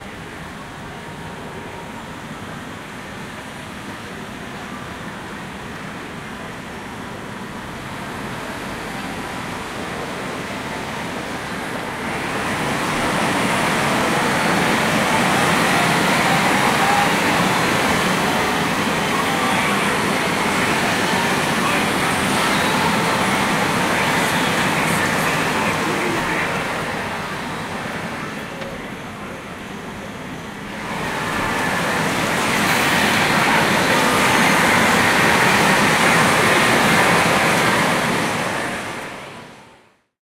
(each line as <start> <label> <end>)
11.8 Pachinko Noise 28.8
30.5 Pachinko Noise 38.9